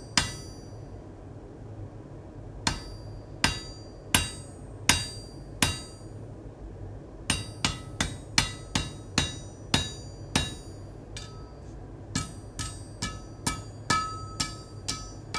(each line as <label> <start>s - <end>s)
Hammering on anvils and metal pieces 0.0s - 0.7s
Hammering on anvils and metal pieces 2.6s - 6.1s
Hammering on anvils and metal pieces 7.3s - 15.3s
metal pieces were resonating 7.3s - 11.6s
metal pieces were resonating 12.2s - 15.3s